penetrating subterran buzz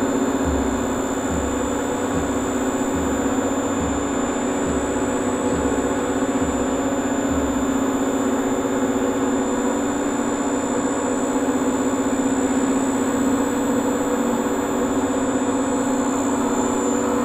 0.0 10.7

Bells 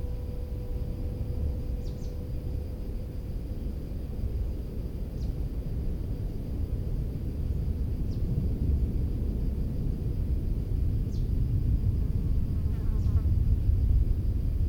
0.0 3.8

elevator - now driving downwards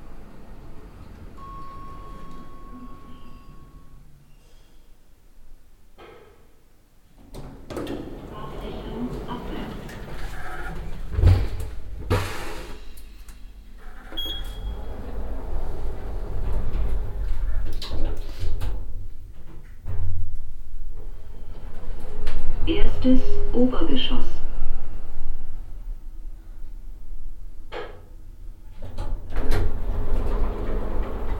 0.0 4.1, 13.8 27.4, 28.8 31.3

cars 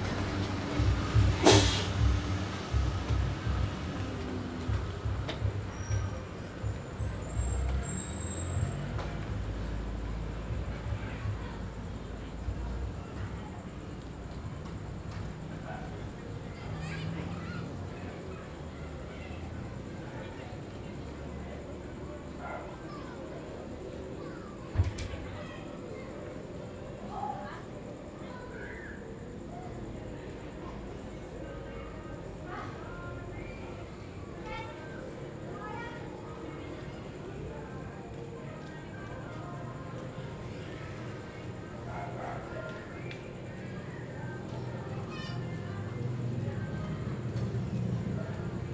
0.0 22.8, 40.0 48.7

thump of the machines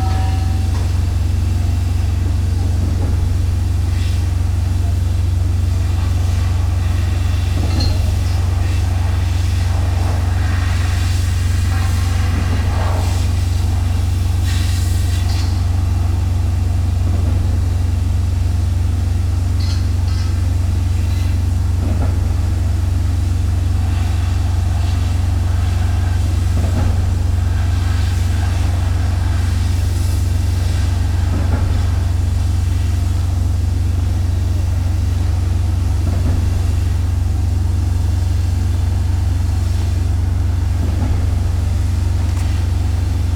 36.0 36.6

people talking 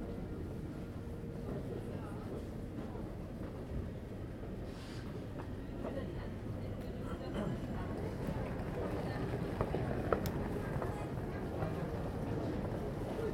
1.4 3.6, 5.7 13.3

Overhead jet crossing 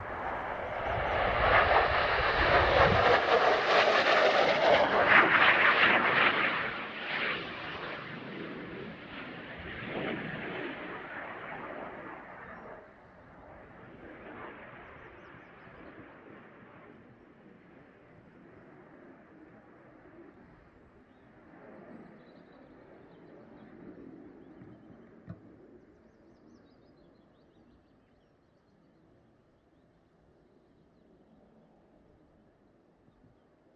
0.0 15.1

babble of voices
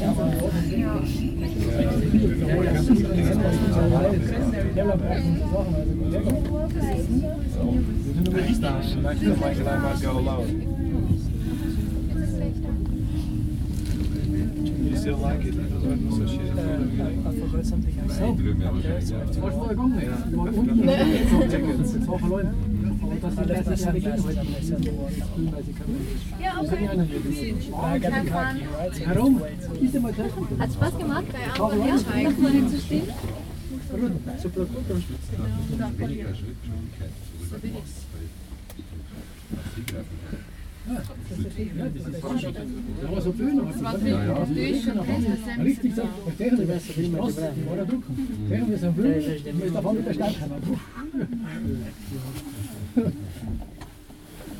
0.0 38.2

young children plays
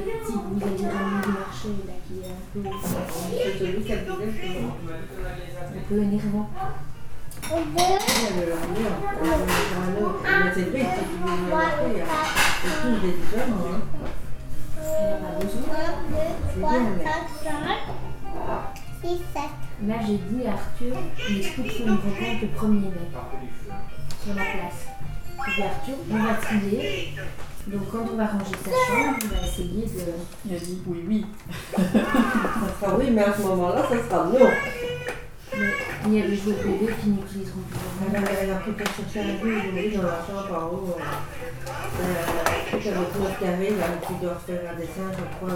0.0 4.5, 6.6 13.2, 13.9 19.8, 20.8 22.4, 24.6 26.4, 28.1 30.2, 31.5 37.3

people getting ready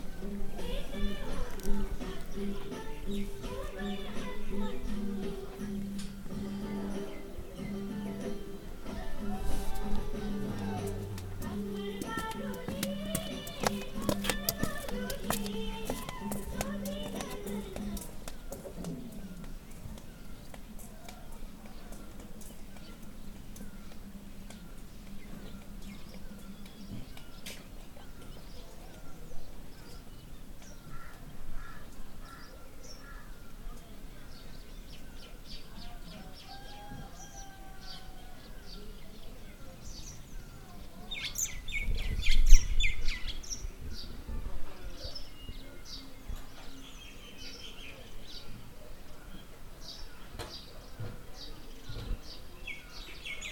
0.0 30.1

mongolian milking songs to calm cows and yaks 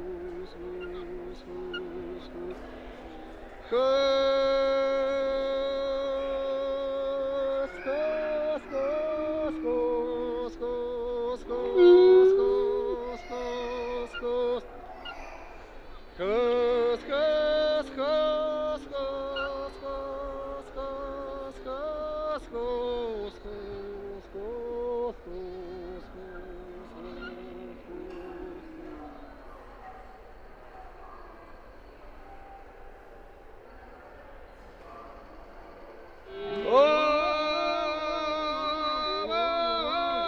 0.0 15.6, 16.2 29.8

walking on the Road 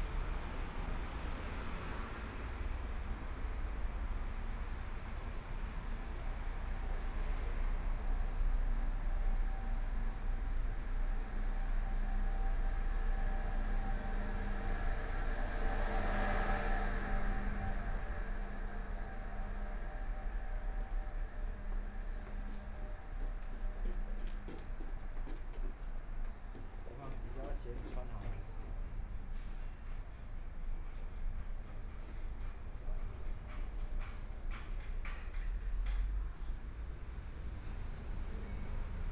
12.6 39.1

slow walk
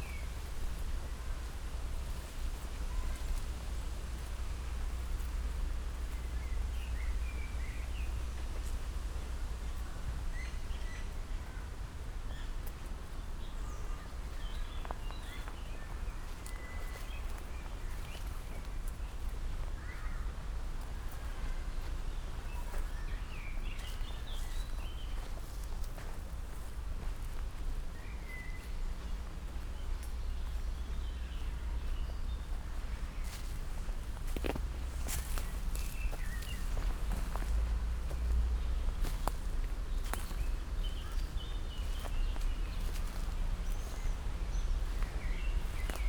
14.1 46.0

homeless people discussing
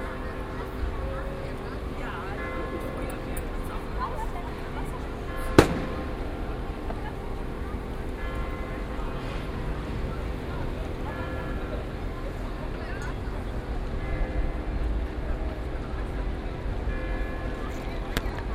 0.0 13.7

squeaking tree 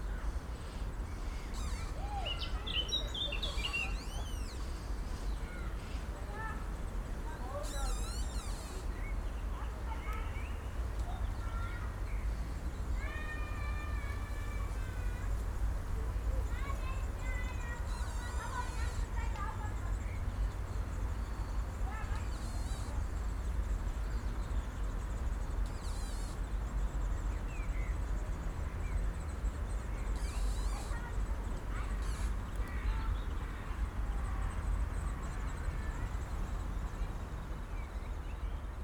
1.4 2.0, 7.7 8.8, 30.1 31.1, 31.8 32.6

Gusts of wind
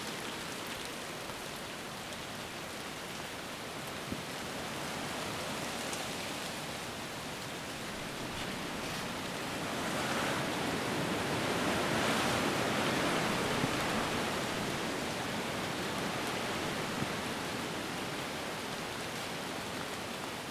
4.0 18.5

